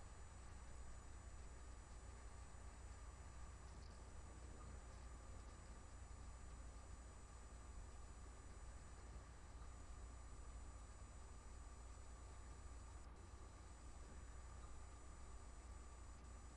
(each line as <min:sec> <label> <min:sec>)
0:00.0 fan 0:16.5